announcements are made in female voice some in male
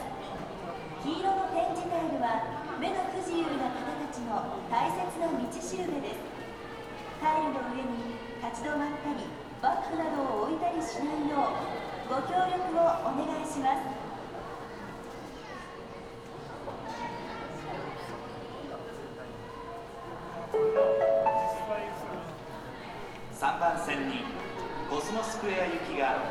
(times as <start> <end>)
20.6 22.5